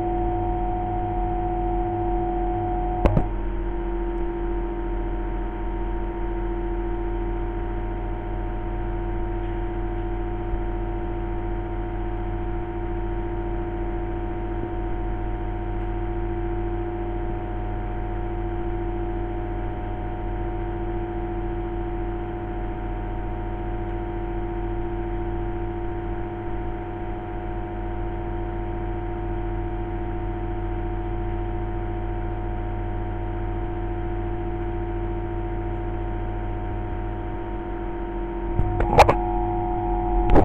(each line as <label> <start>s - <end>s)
Drone of an extraction fan 0.0s - 40.4s
clicks of the power switch 3.0s - 3.4s
clicks of the power switch 38.6s - 39.2s